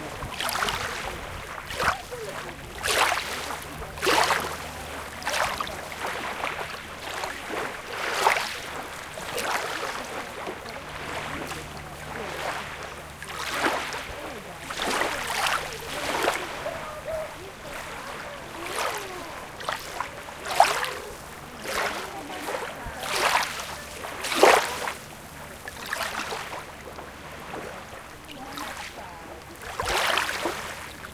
Wind 0.0 - 31.1
waves 0.0 - 31.1

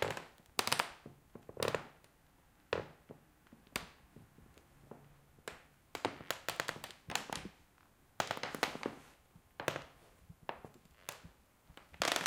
Creaking Wooden Floor 9.6 - 12.2

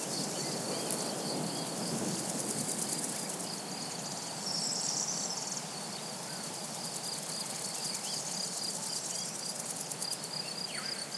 crickets 0.0 - 11.1
soft murmur of wind on trees 0.0 - 11.1
singing birds 2.9 - 11.1

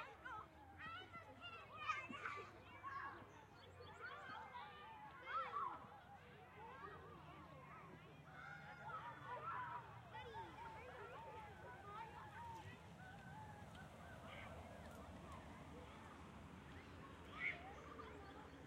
children playing on a playground 0.0 - 18.6
minimal traffic 7.2 - 18.6

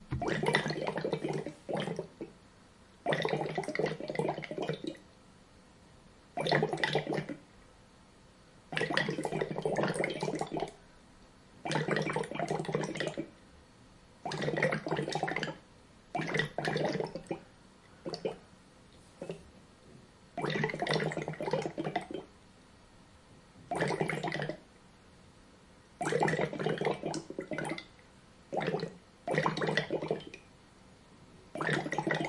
airlocks letting out Co2 26.0 - 27.8

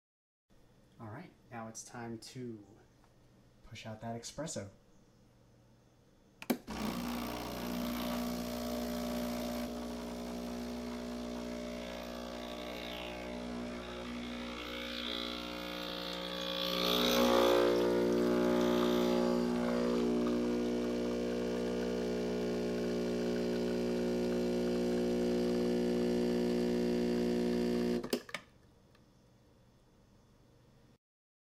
Brewing Espresso 6.7 - 28.0

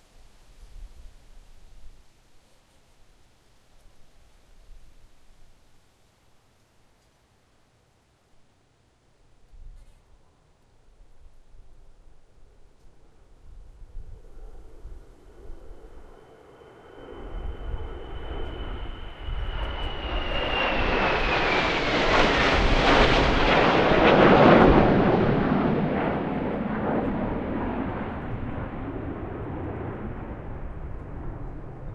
F-18 hornet pass 14.1 - 31.9

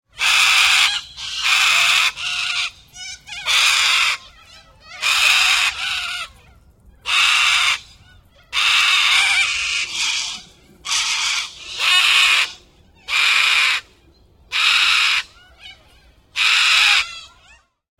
Corellas screech multiple 8.6 - 13.8

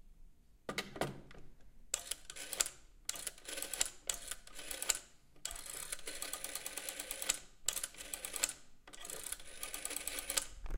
dialing with 60's dial telephone 2.0 - 10.6

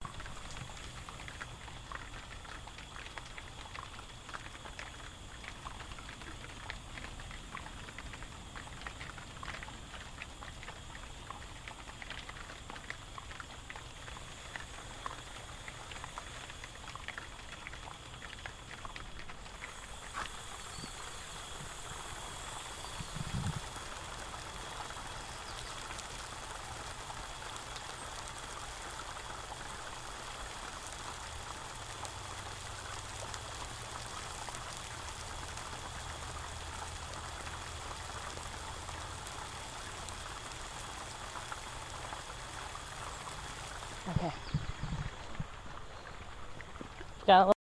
water rushing through the little streams 0.0 - 47.6
leaves getting hit by water 13.0 - 46.9

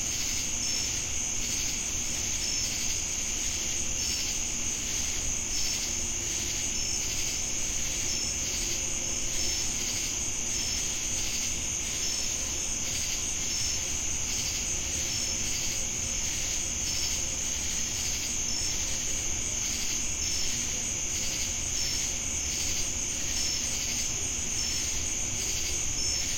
cicadas 0.0 - 26.3
crickets 0.0 - 26.3

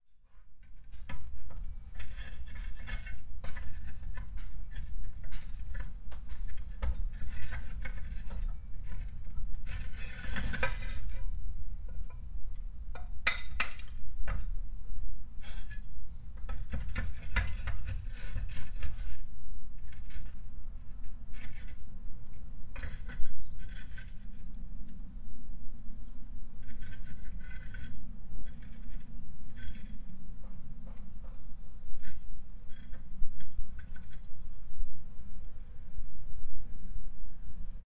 Workman On Roof Scraping 0.3 - 14.5
Workman On Roof Scraping 15.3 - 22.0
Workman On Roof Scraping 22.7 - 24.6
Workman On Roof Scraping 26.6 - 34.5

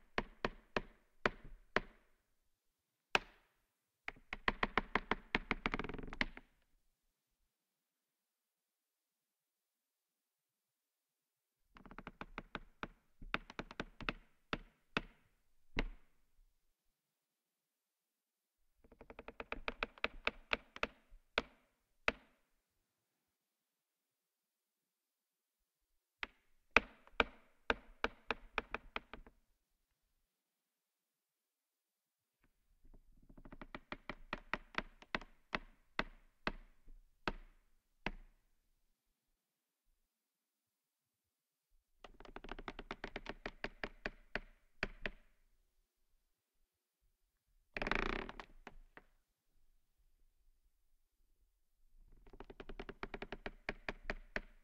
Plastic Creak 47.8 - 49.1

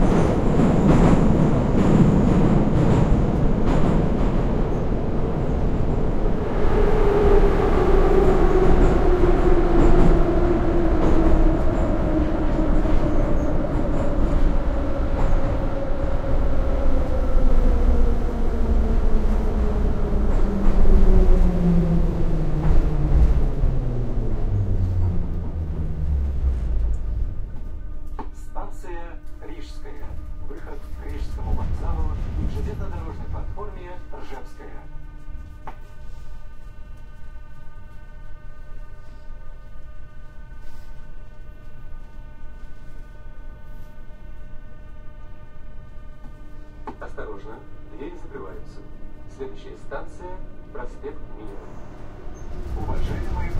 subway train ride 0.0 - 53.5
intercom announcements 28.2 - 35.0
people talking 28.4 - 34.9
intercom announcements 46.9 - 53.5
people talking 47.0 - 51.6
people talking 52.8 - 53.5

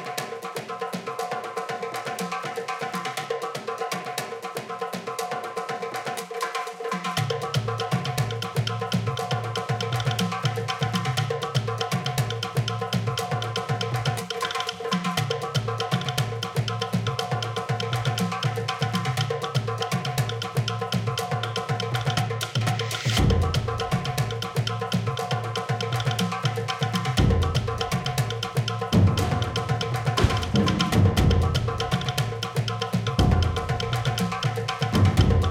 dozens of drums 21.6 - 35.5

